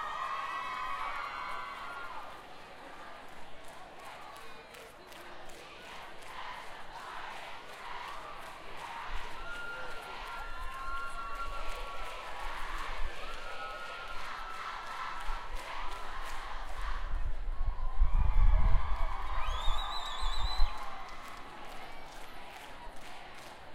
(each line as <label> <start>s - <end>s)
Chanting sorority 2.4s - 10.4s
Chanting sorority 11.5s - 17.5s